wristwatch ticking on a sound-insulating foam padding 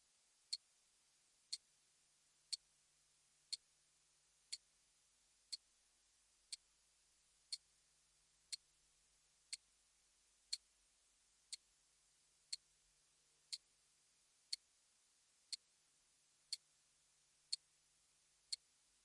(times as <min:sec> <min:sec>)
0:04.5 0:04.7, 0:05.5 0:05.7, 0:06.5 0:06.7, 0:07.5 0:07.7, 0:08.5 0:08.7, 0:09.5 0:09.7, 0:10.5 0:10.7, 0:11.5 0:11.7, 0:12.5 0:12.7, 0:13.5 0:13.7, 0:14.5 0:14.7, 0:15.5 0:15.7, 0:16.5 0:16.7, 0:17.5 0:17.7, 0:18.5 0:18.7